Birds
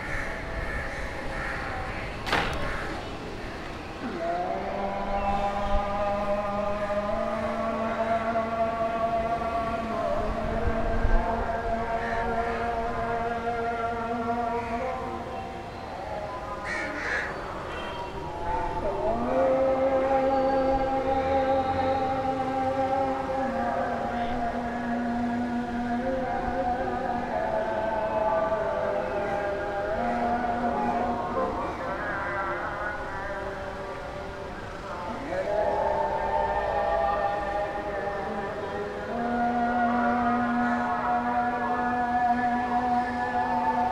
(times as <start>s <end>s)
0.0s 8.4s, 14.0s 19.2s